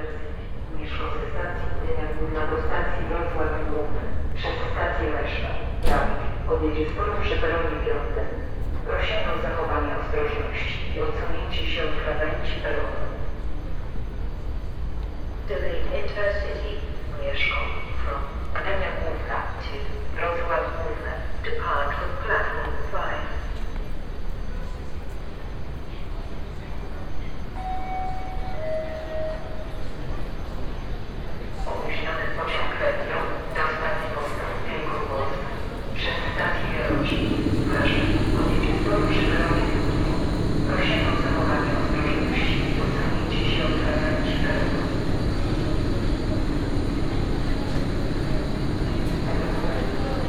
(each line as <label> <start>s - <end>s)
train announcements 0.0s - 50.2s
trains idling 0.0s - 50.2s